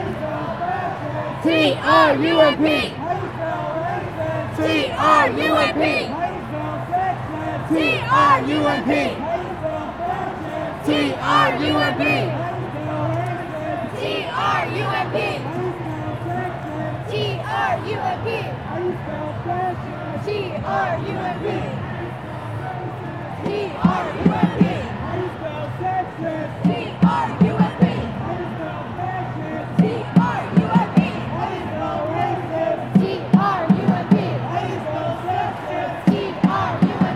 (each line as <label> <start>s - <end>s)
Anti-Trump protests 0.0s - 37.1s